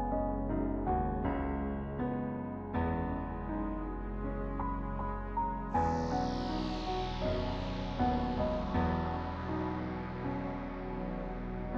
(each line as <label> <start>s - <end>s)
piano 0.0s - 11.7s
synth 2.6s - 11.7s